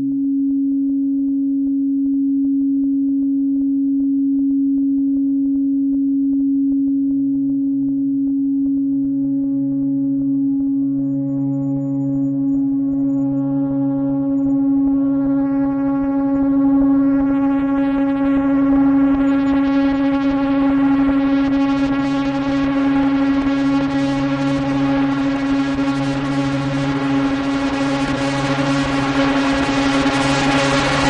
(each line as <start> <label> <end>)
5.8 droning oscillation which crescendos 31.0